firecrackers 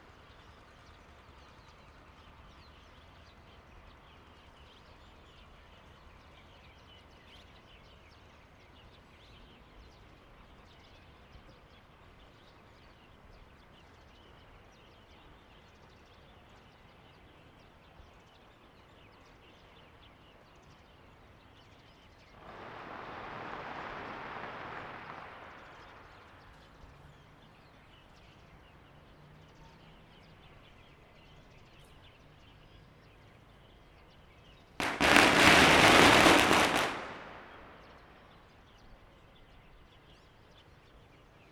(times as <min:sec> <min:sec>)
0:22.4 0:27.0, 0:34.8 0:38.5